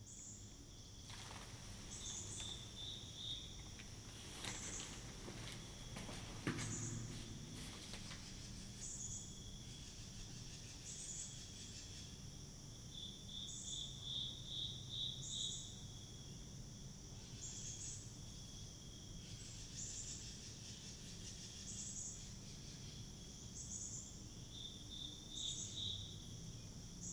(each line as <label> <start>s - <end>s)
katydids 0.0s - 12.1s
birds 0.0s - 12.1s
footsteps 1.0s - 8.8s